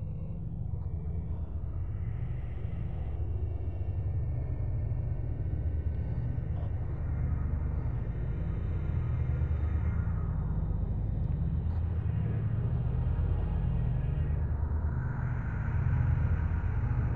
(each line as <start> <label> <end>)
0.0 ambient noise 17.1